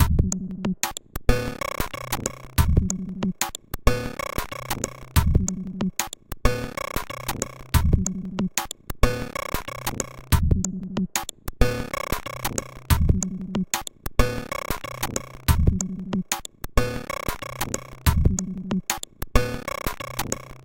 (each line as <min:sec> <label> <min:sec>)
0:00.0 beat 0:20.6